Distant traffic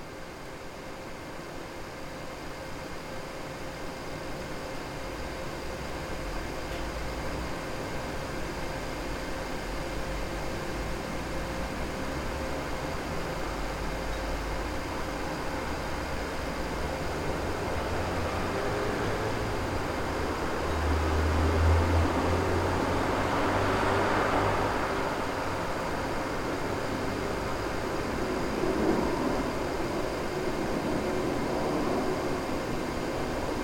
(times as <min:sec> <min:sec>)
0:10.1 0:33.6